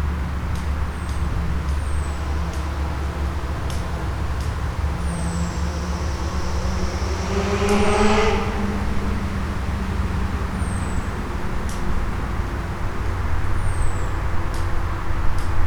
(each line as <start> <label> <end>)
0.0 traffic noise 15.6